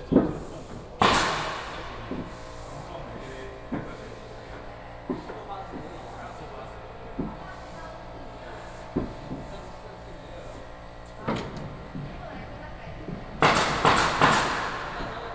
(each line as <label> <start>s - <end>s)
Construction carpentry 0.0s - 15.3s